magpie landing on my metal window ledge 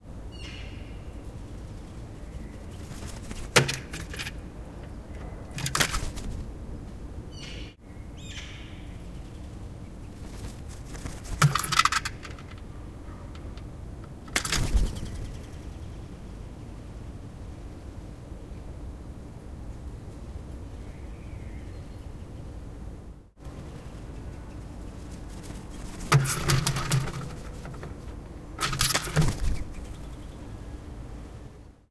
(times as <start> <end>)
3.0 4.4, 25.9 30.0